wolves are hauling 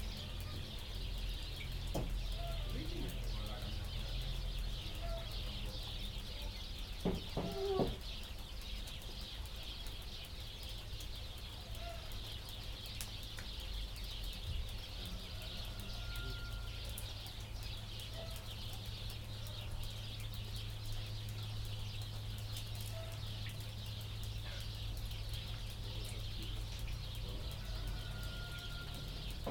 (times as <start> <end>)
21.7 29.5